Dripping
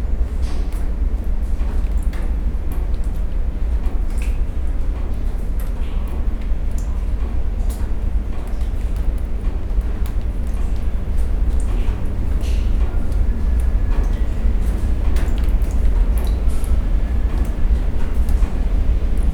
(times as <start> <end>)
7.6 19.3